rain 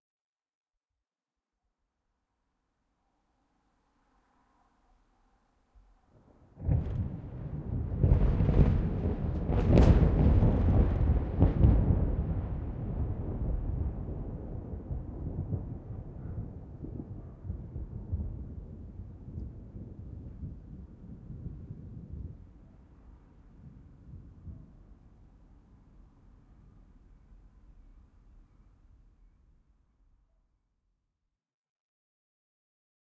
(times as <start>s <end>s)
6.5s 26.0s